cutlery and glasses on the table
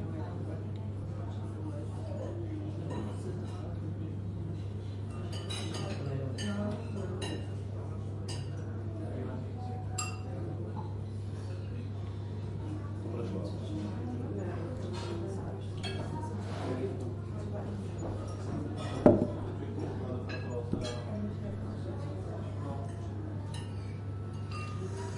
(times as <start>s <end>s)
5.1s 7.5s, 8.3s 8.6s, 9.9s 10.3s, 14.8s 17.0s, 20.2s 21.1s, 22.7s 25.1s